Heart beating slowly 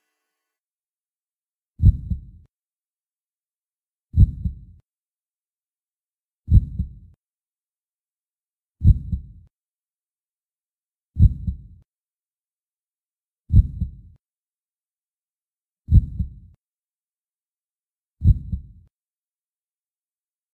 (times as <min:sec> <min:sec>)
0:01.8 0:02.4, 0:04.2 0:04.8, 0:06.5 0:07.1, 0:08.8 0:09.4, 0:11.2 0:11.8, 0:13.5 0:14.1, 0:15.9 0:16.5, 0:18.2 0:18.8